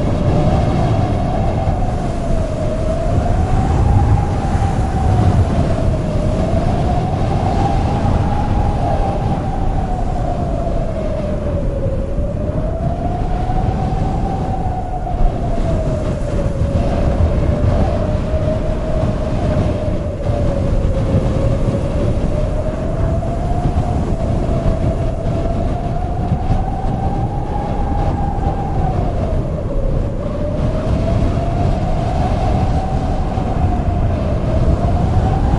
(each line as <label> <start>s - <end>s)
desert wind 0.0s - 35.5s
low earth rumbling 0.0s - 35.5s
wind rustling a dry corn field 0.0s - 35.5s